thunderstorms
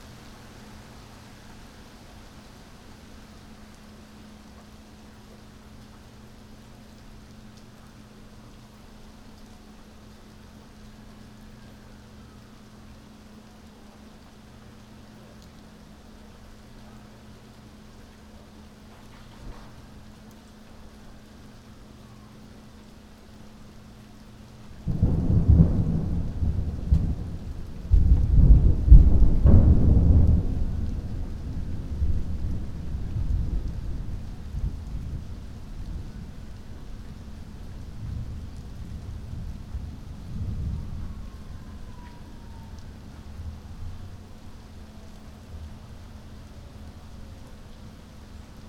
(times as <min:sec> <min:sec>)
0:24.7 0:46.2